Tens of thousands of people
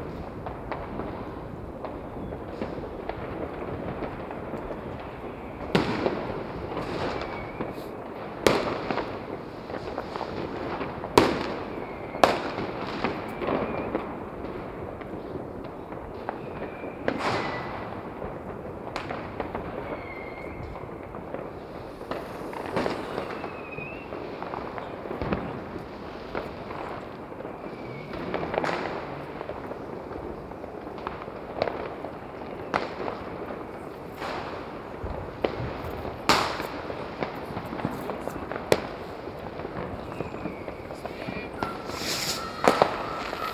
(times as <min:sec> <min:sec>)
0:19.6 0:31.2, 0:33.2 0:43.5